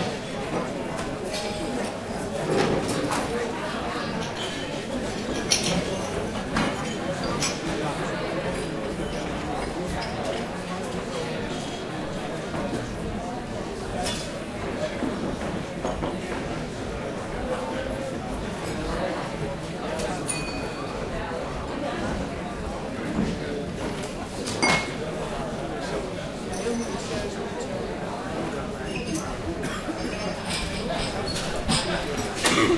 Crowd talking 0:00.0 - 0:32.7

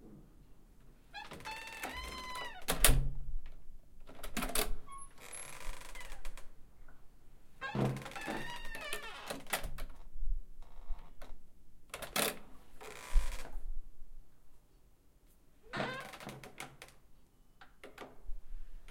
creaky door opening and closing several times 0:01.1 - 0:03.2
creaky door opening and closing several times 0:04.1 - 0:06.4
creaky door opening and closing several times 0:07.6 - 0:10.0
creaky door opening and closing several times 0:12.0 - 0:13.6
creaky door opening and closing several times 0:15.7 - 0:16.9

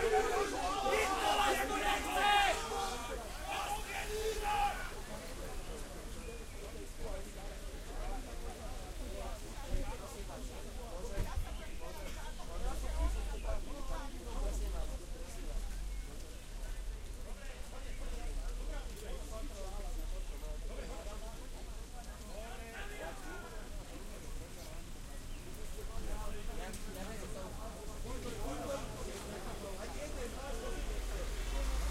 protest 0:00.0 - 0:05.1
police 0:00.0 - 0:06.8
screaming 0:03.5 - 0:05.0

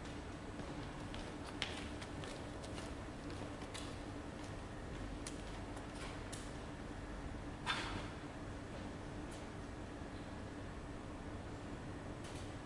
worker comes in, removes some paper and walks off 0:00.0 - 0:06.6
workers on the main printing floor 0:00.0 - 0:12.6
worker comes in, removes some paper and walks off 0:12.2 - 0:12.6

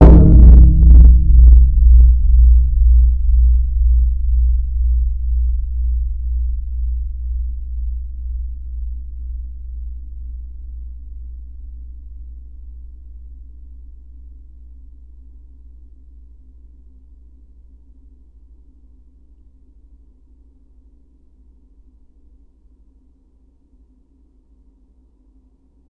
Metal Fence Gong Hit 0:00.0 - 0:18.4

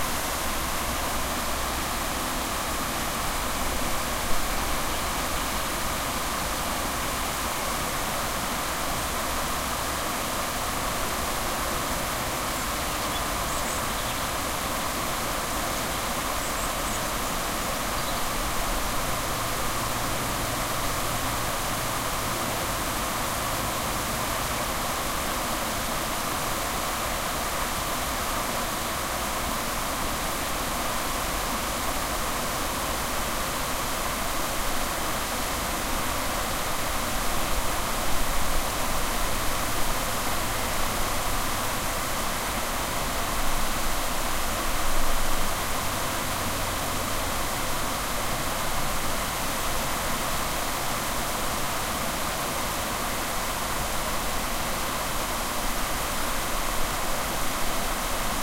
River water flowing over a weir 0:00.0 - 0:58.4

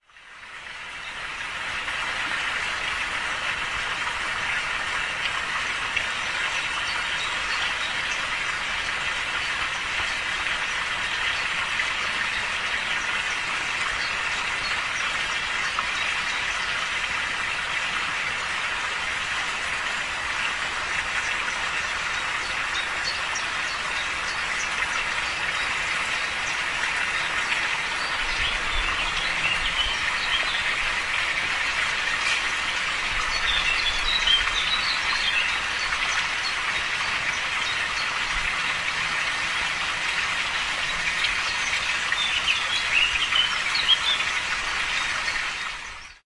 birds sing 0:00.0 - 0:46.2
water falling to the fish pond 0:00.0 - 0:46.2

